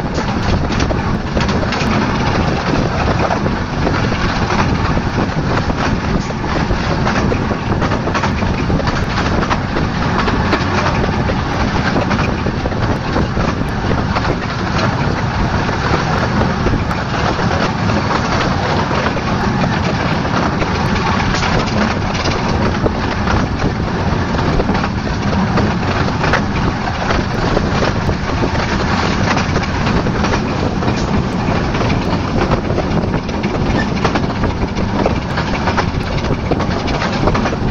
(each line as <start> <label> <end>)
0.0 small gauge train 37.7